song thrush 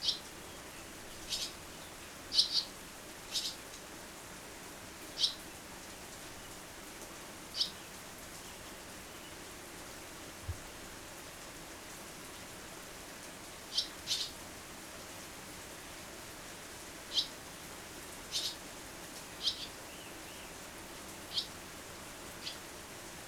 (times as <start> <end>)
0.0 2.7, 18.3 18.6, 19.4 20.6